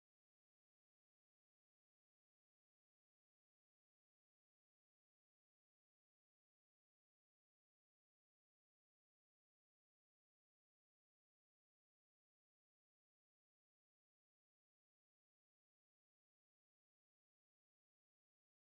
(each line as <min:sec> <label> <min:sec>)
0:00.0 machines are working day and night 0:18.7